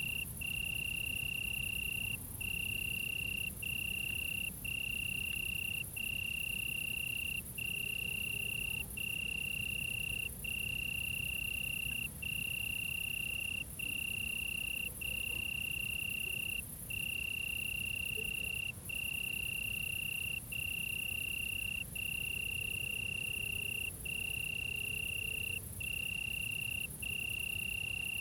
0.0s Crickets 28.2s

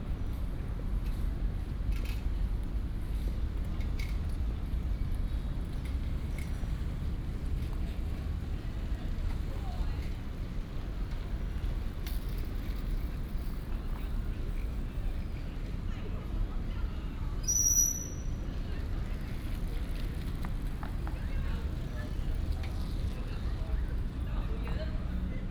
18.0s Bicycle sound 24.2s

